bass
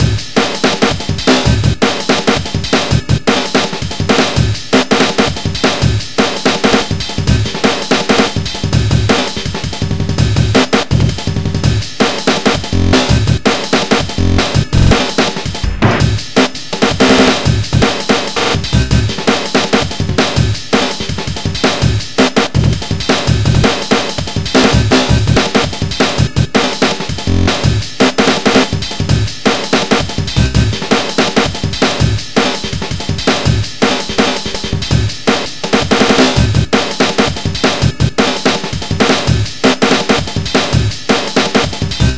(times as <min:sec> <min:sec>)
0:12.7 0:13.4, 0:14.1 0:15.0, 0:18.6 0:19.2, 0:24.6 0:25.4, 0:27.2 0:27.9, 0:30.3 0:30.8, 0:42.0 0:42.1